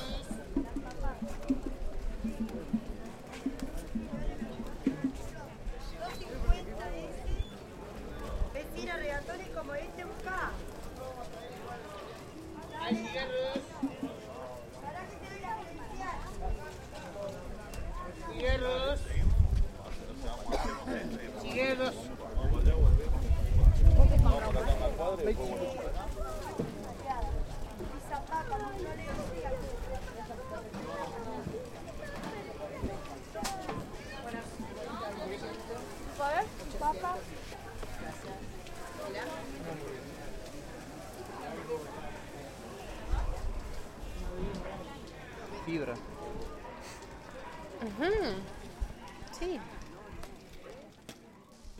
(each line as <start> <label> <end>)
0.0 market is getting crowded and busy 51.7